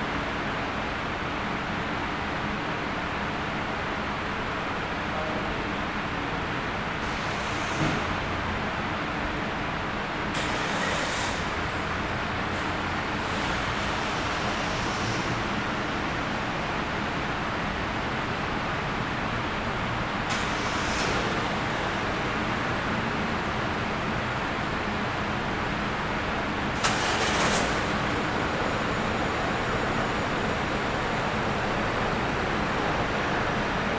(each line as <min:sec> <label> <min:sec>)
0:10.3 car engines starting 0:16.7
0:20.2 car engines starting 0:33.9